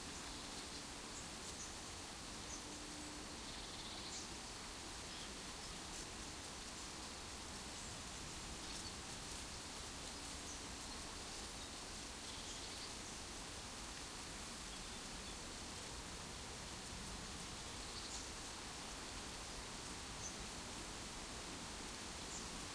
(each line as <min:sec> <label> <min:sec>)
0:00.0 dry leaves rustling in a tree 0:22.7